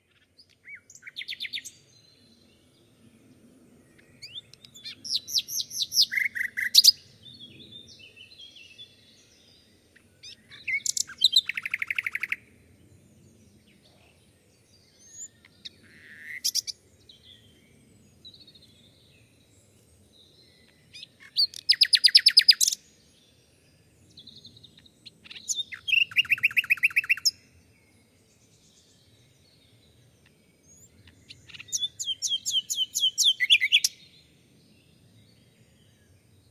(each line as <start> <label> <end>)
0.0 Nightingale singing 3.0
3.8 Nightingale singing 36.5